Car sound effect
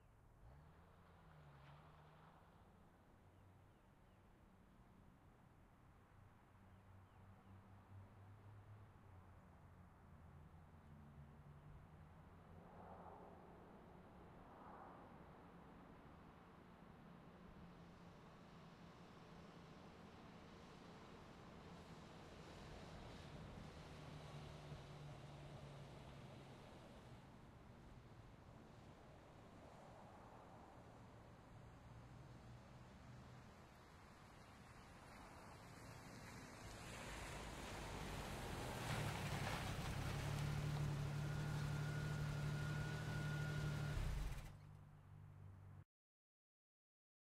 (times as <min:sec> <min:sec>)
0:39.9 0:44.7